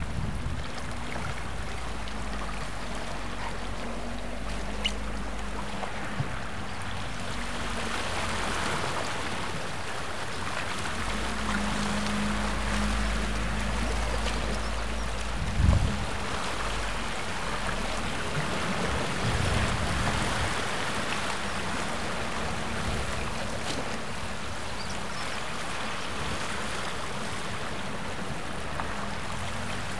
calm waves 0:00.0 - 0:29.9

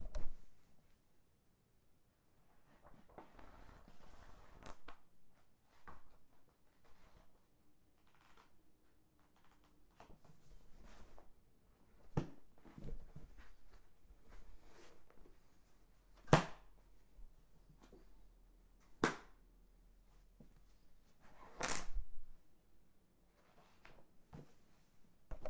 Book opening 0:21.5 - 0:22.0

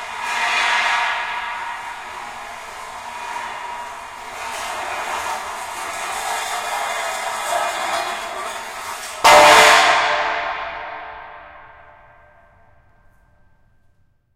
drag & drop of heavy metal poles 0:00.0 - 0:11.3
natural reverb 0:09.3 - 0:12.9

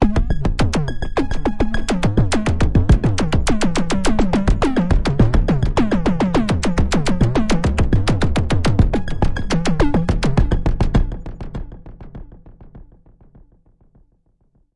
arpeggiated loop 0:00.0 - 0:11.4

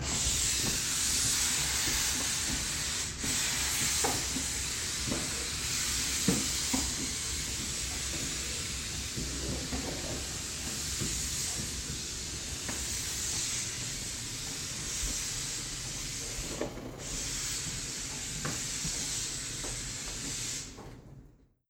Wagner SteamCleaner cleaning the floor 0:00.0 - 0:21.0

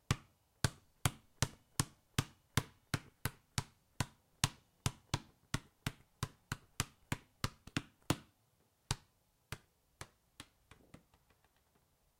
underinflated basketball bouncing 0:00.1 - 0:08.3

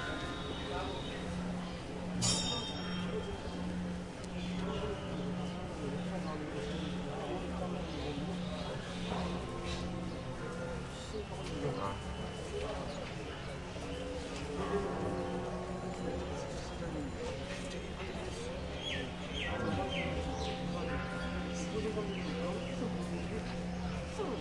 voices 0:00.0 - 0:24.4
children 0:19.6 - 0:20.2

